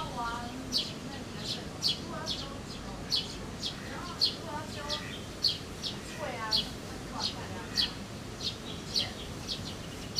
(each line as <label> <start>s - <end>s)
people 0.0s - 9.3s
other birds 0.0s - 10.1s
ducks 3.6s - 9.0s